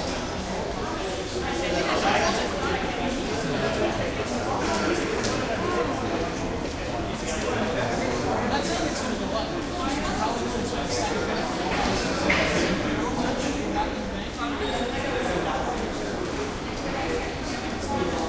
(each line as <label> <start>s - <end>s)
crowd 0.0s - 18.2s